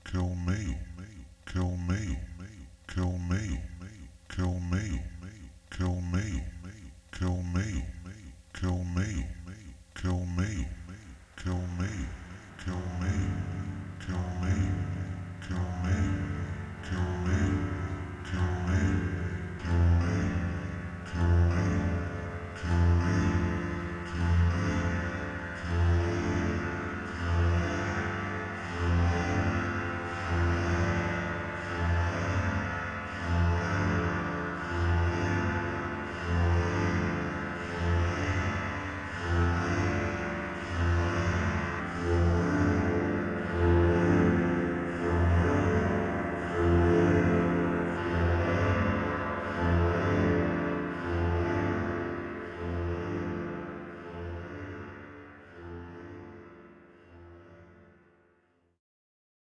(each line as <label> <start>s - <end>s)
voice 0.0s - 20.3s